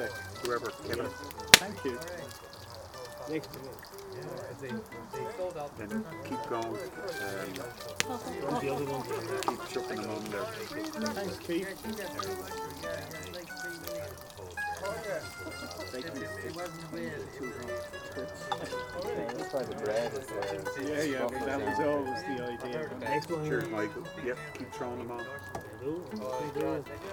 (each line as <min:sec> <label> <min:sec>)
0:00.0 Meat sizzling on the fire 0:27.1
0:00.0 Music by the Fire 0:27.1
0:00.0 chatter around the fire 0:27.1